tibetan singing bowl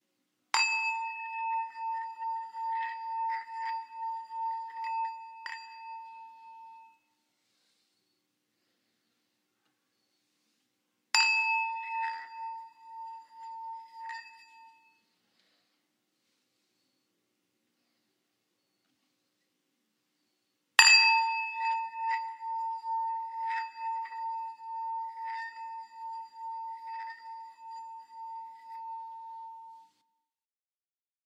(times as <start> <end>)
0.6 7.0, 11.2 15.0, 20.8 30.0